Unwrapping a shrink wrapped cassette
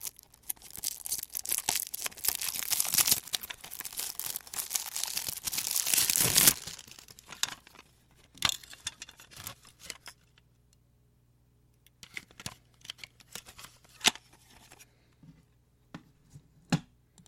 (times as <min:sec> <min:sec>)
0:00.0 0:07.9